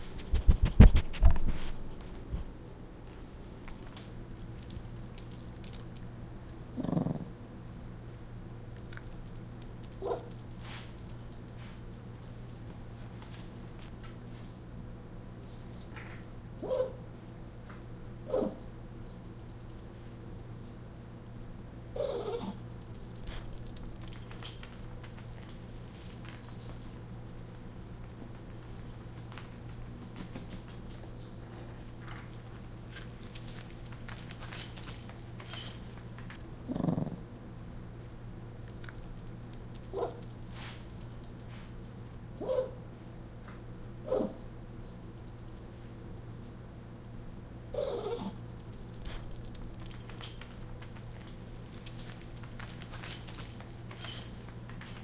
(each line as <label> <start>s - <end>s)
barking 10.0s - 10.3s
yip 10.0s - 10.3s
yip 16.6s - 17.0s
barking 16.6s - 17.0s
yip 18.3s - 18.7s
barking 22.0s - 22.6s
yip 22.0s - 22.6s
yip 39.9s - 40.2s
barking 39.9s - 40.2s
barking 42.4s - 42.8s
yip 42.4s - 42.8s
barking 44.0s - 44.4s
yip 44.0s - 44.4s
yip 47.7s - 48.4s
barking 47.7s - 48.4s